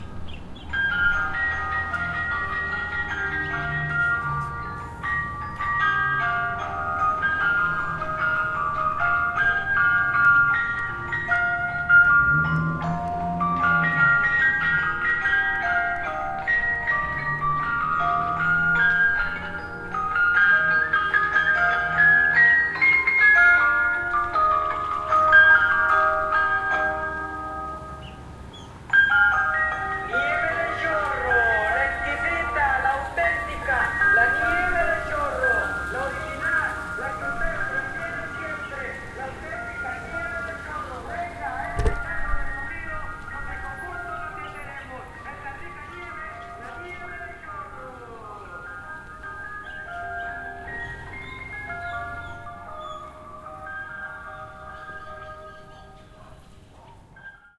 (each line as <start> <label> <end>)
0.0 ice cream truck 57.5